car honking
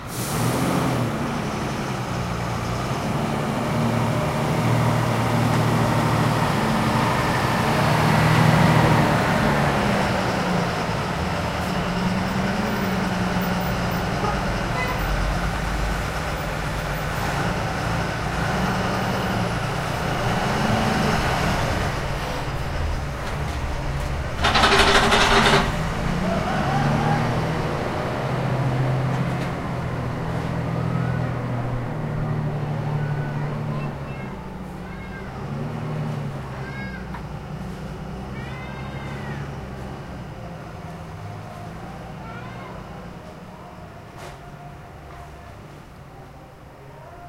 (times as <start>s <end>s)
13.9s 15.2s